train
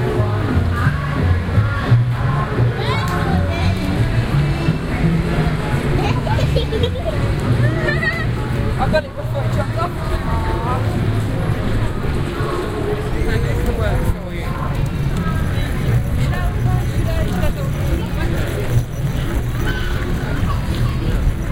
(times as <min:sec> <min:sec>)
0:13.5 0:21.5